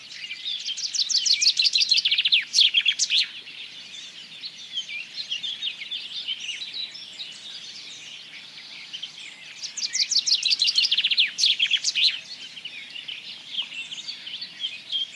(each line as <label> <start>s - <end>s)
call of a Chaffinch 0.0s - 15.1s